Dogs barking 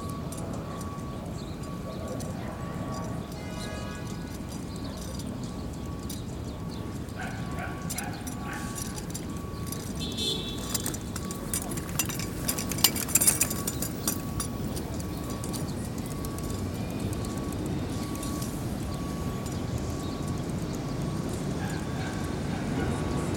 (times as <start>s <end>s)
7.0s 9.2s, 21.5s 23.3s